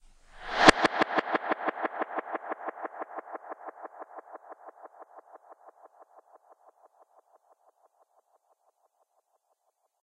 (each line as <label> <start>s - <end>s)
backwards swoosh with slow delay 0.2s - 6.1s